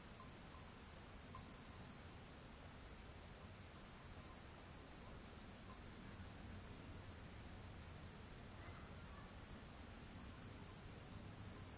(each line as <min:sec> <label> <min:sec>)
0:00.0 light wind in the trees 0:11.7
0:00.2 cowbell 0:00.7
0:01.3 cowbell 0:01.8
0:05.0 Voices in the distance fade away 0:11.7